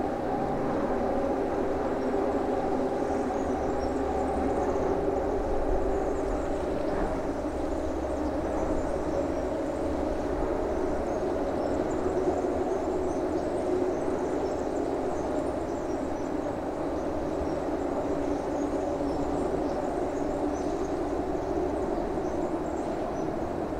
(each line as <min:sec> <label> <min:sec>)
0:00.0 train 0:23.7
0:01.8 birds 0:23.7